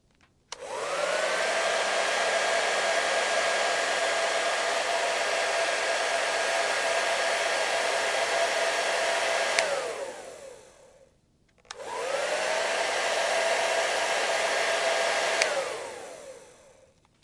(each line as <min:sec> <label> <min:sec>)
0:00.5 hair dryer 0:11.1
0:11.7 hair dryer 0:16.9